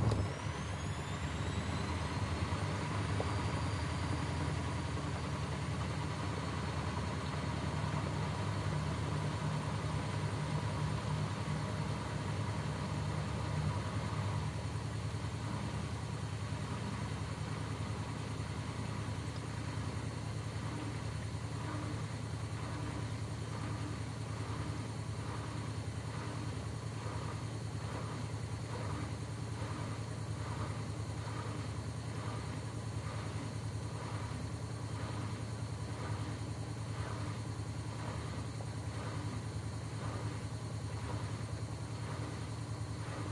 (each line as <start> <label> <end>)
0.0 washing machine spinning medium 43.3